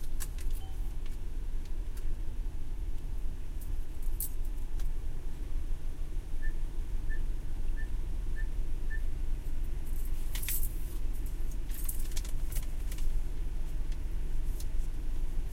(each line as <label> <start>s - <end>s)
using the drive through ATM 0.0s - 2.2s
car 0.0s - 15.5s
beeping 0.6s - 0.9s
using the drive through ATM 3.2s - 15.5s